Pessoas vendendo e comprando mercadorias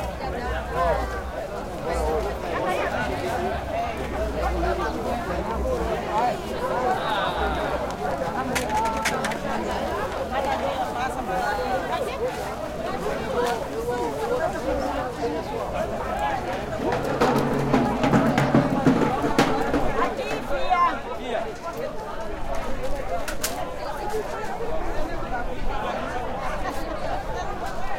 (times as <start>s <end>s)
6.0s 21.0s